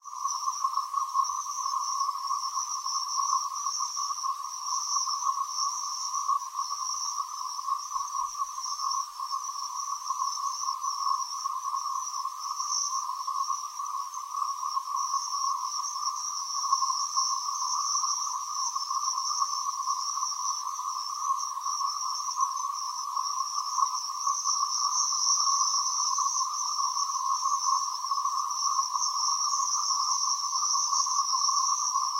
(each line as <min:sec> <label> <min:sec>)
0:00.0 giant swarm of cicadas 0:32.1